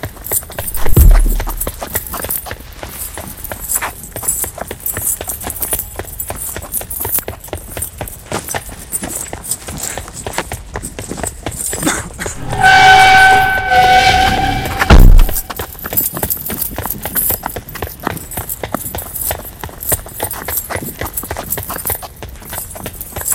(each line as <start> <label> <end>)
0.0 human male running 12.4
0.2 chains 9.9
0.6 explosion 1.8
12.4 explosion 15.5
12.4 whistle 15.6
15.1 chains 23.3
15.4 human male running 23.3